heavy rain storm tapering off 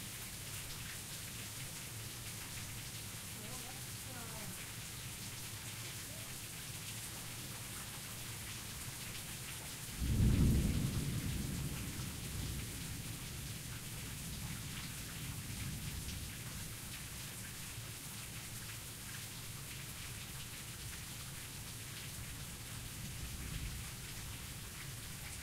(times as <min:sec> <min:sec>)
0:09.9 0:16.3